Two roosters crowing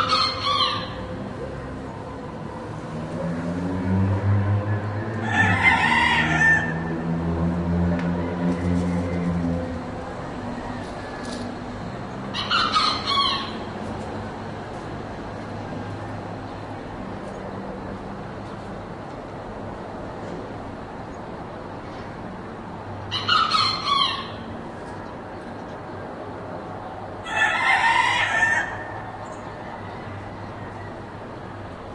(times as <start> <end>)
0.0 1.1, 4.6 7.0, 12.3 13.7, 23.1 24.4, 27.2 31.1